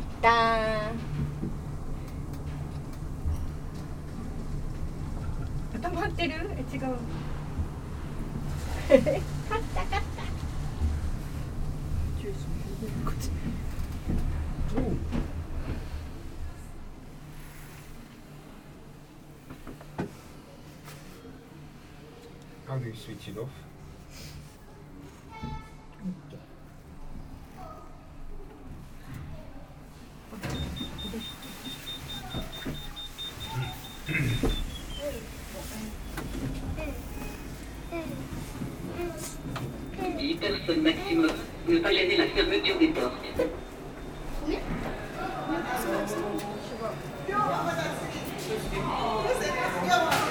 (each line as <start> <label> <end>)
29.1 people wait 50.3